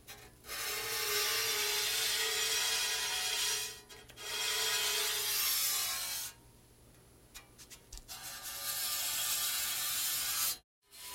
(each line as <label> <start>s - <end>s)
bowed saw 0.1s - 6.4s
bowed saw 8.0s - 11.1s